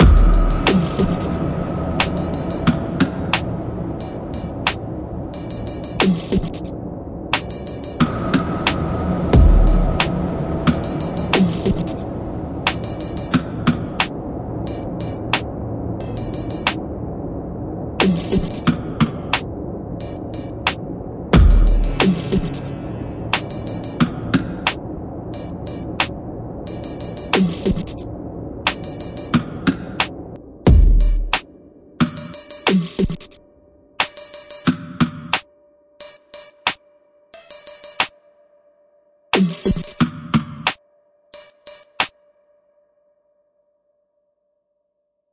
0.0s drums 4.8s
0.0s fx over drums 6.7s
5.4s drums 6.7s
7.3s fx over drums 16.8s
7.3s drums 16.8s
18.0s drums 20.8s
18.0s fx over drums 20.8s
21.4s drums 24.8s
21.4s fx over drums 28.0s
25.4s drums 28.0s
28.6s fx over drums 33.4s
28.7s drums 30.1s
30.7s drums 33.4s
34.0s drums 35.4s
39.4s drums 40.8s
39.4s fx over drums 40.8s

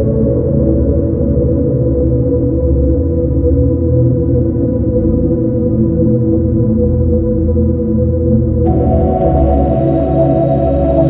8.7s short song 11.0s

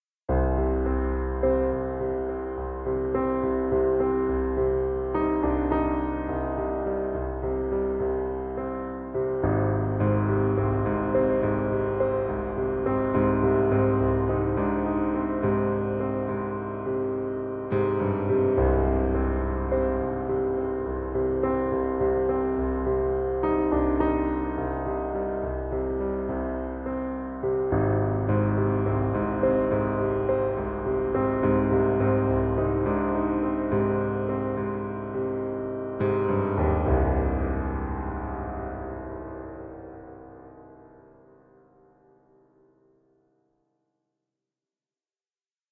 0.0s piano 43.8s

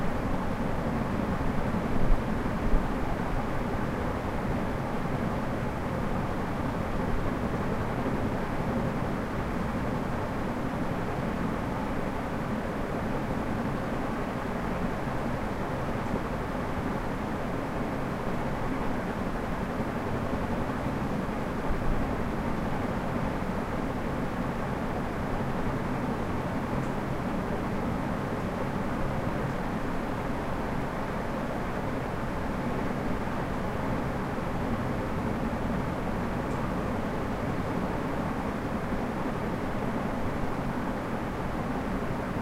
0.0s ceiling fan high speed smooth 42.4s

